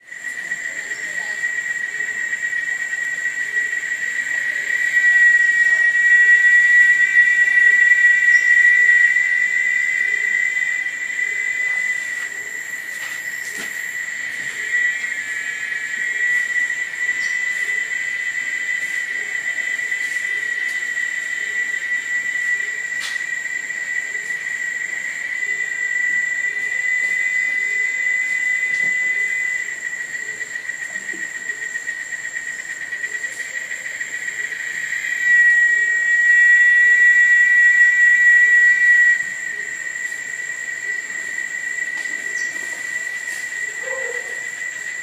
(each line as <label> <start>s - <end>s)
insect that is singing 0.0s - 45.0s